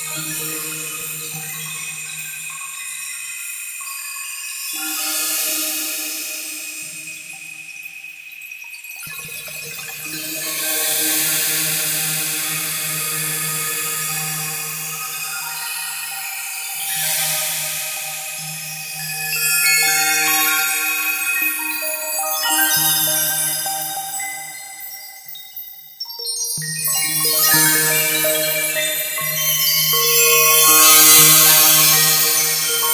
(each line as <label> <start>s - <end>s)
chime 0.0s - 32.9s